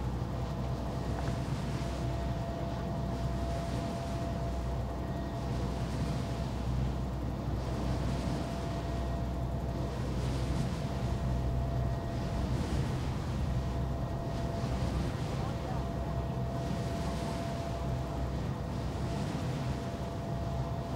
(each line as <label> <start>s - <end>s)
wind turbine 0.0s - 20.9s